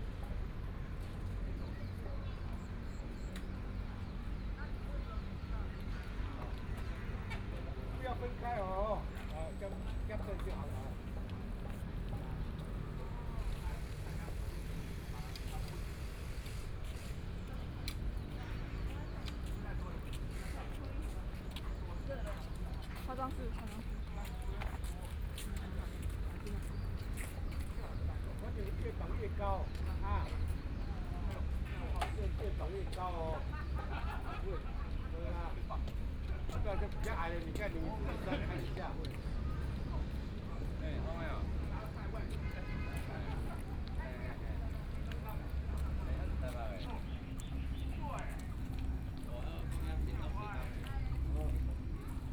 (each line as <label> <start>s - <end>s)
crowd 0.0s - 52.3s
Construction works 9.9s - 21.1s